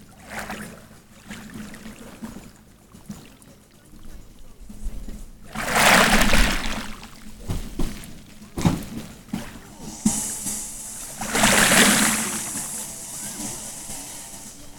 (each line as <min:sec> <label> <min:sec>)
0:00.0 sea 0:14.7